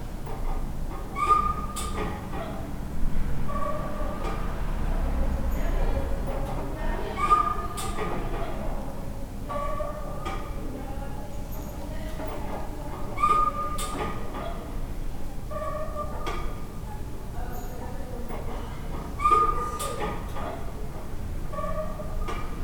muffled conversations from behind the door 0:01.1 - 0:22.6
traffic 0:01.8 - 0:09.4

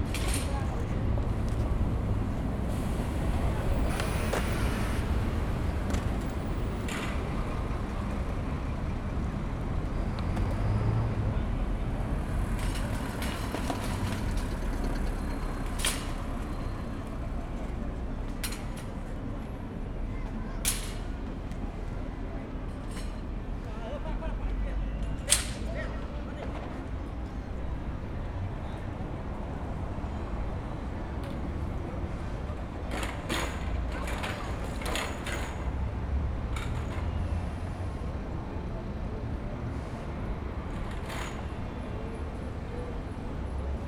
traffic 0:00.0 - 0:43.8

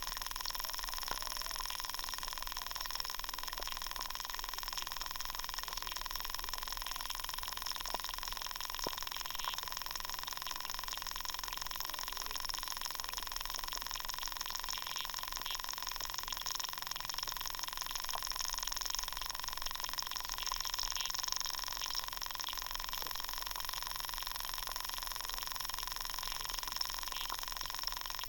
Underwater activity 0:00.0 - 0:28.2

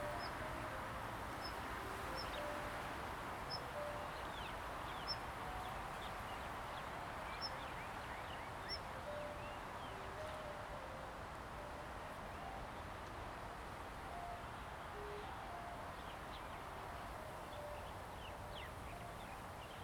Wind 0:00.0 - 0:19.8

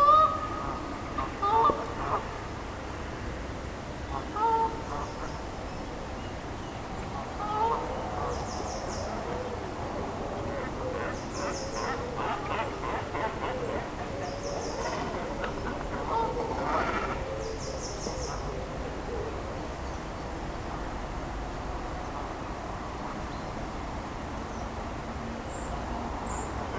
Canada goose 0:00.0 - 0:02.3
Cormorants 0:00.0 - 0:02.3
Canada goose 0:04.1 - 0:05.4
Canada goose 0:07.1 - 0:08.4
Cormorants 0:07.1 - 0:19.4
Canada goose 0:10.4 - 0:17.5

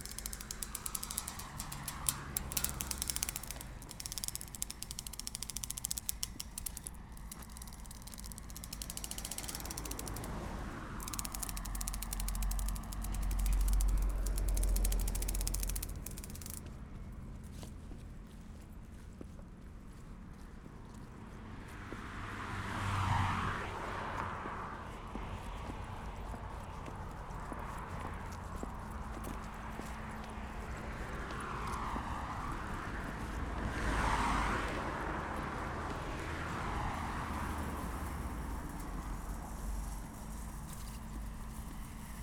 small twig until it breaks 0:00.0 - 0:10.4
wire mesh 0:00.0 - 0:16.6
small twig until it breaks 0:11.0 - 0:16.6

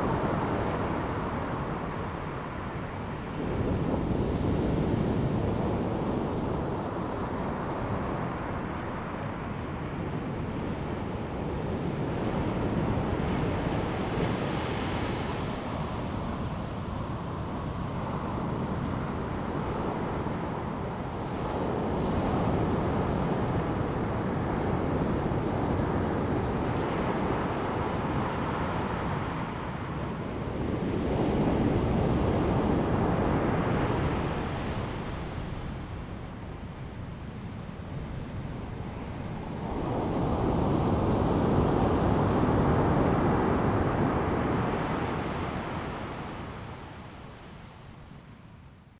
waves 0:00.0 - 0:48.6

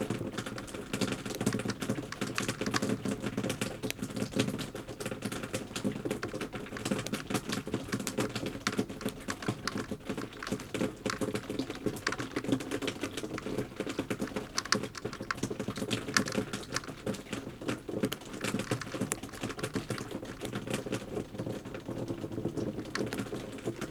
melt water dripping from the roof 0:00.0 - 0:23.9

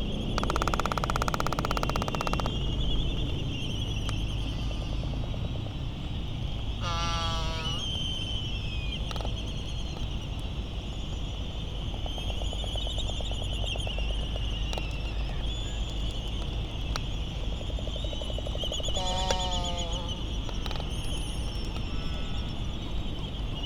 island traffic noise 0:00.0 - 0:23.6
laysan albatross calls and bill rattling 0:00.4 - 0:02.7
laysan albatross calls and bill rattling 0:06.8 - 0:08.1
laysan albatross calls and bill rattling 0:17.9 - 0:20.9

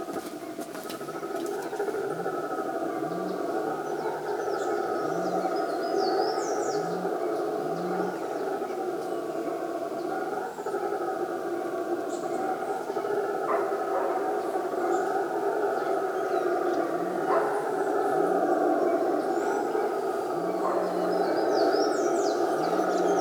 birds 0:00.0 - 0:23.2
monkeys known as bugios 0:00.0 - 0:23.2
dogs 0:13.4 - 0:15.0
dogs 0:16.2 - 0:23.2

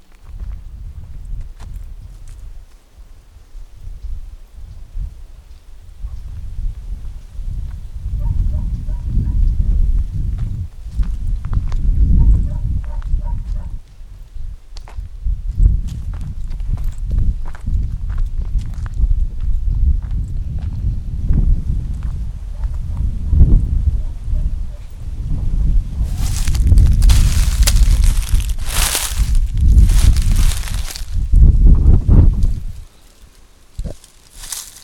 walk in the woods 0:00.0 - 0:23.3
walk in the woods 0:25.8 - 0:34.8

